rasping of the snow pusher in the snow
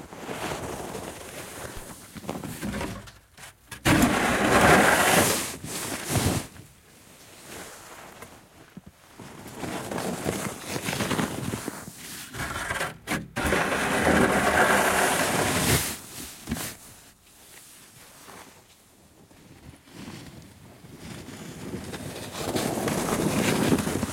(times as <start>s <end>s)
0.1s 2.1s, 3.8s 6.6s, 9.2s 17.0s, 19.8s 24.1s